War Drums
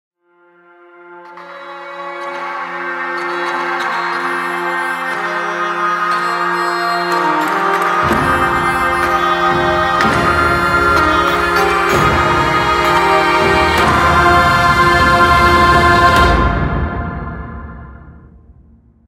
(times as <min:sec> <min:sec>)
0:07.8 0:18.5